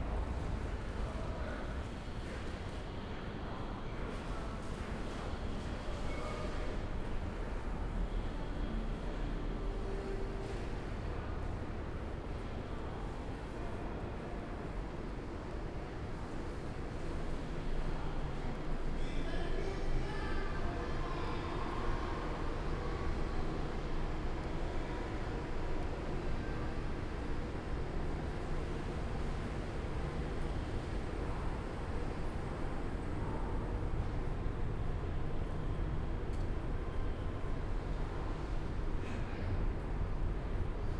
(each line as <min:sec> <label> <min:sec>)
0:00.0 few people around 0:40.9